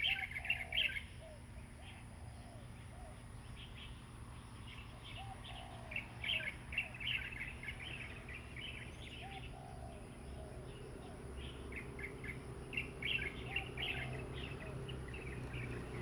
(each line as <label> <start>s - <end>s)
Birds singing 0.0s - 16.0s
Traffic Sound 6.0s - 16.0s